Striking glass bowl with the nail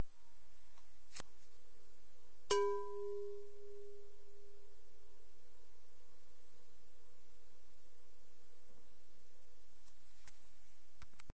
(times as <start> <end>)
2.5 4.1